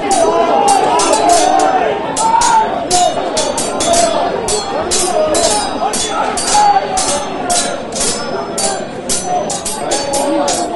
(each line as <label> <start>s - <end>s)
angry men shouting at each other 0.0s - 10.7s
clanging their swords together 0.0s - 10.7s